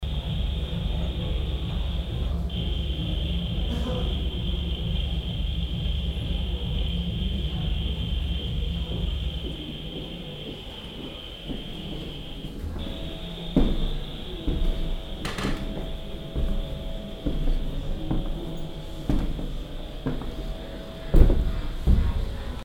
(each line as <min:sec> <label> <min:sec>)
0:00.0 people 0:22.6